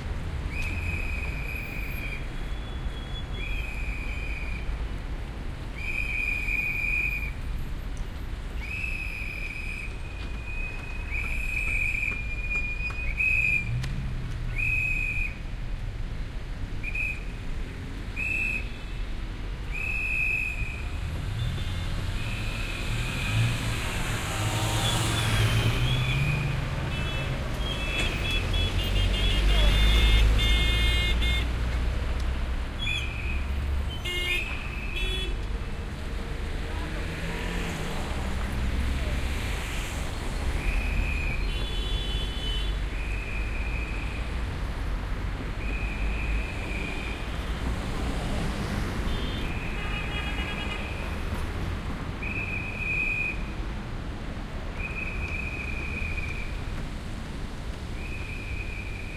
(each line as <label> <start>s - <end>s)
traffic 0.0s - 59.1s
trucks 0.0s - 59.1s
whistle 0.5s - 4.6s
whistle 5.7s - 7.4s
whistle 8.6s - 13.8s
whistle 14.5s - 15.4s
whistle 16.8s - 17.3s
whistle 18.1s - 18.9s
whistle 19.7s - 20.9s
whistle 32.8s - 33.5s
whistle 40.6s - 41.5s
whistle 42.9s - 44.2s
whistle 45.6s - 47.2s
whistle 52.2s - 53.5s
whistle 54.8s - 56.6s
whistle 58.0s - 59.1s